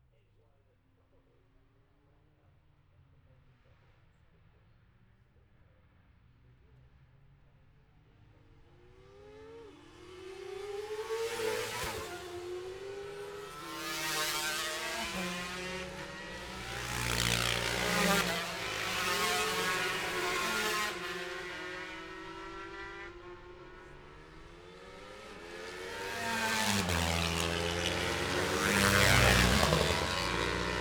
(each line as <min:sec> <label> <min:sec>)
0:07.6 road racing 0:30.8